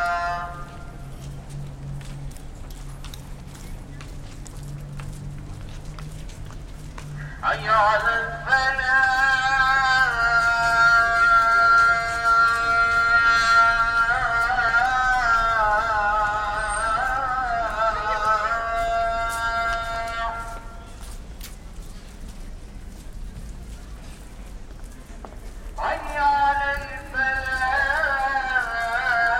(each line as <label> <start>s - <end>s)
Call for prayer 0.0s - 1.1s
Call for prayer 7.0s - 21.2s
Call for prayer 25.7s - 29.3s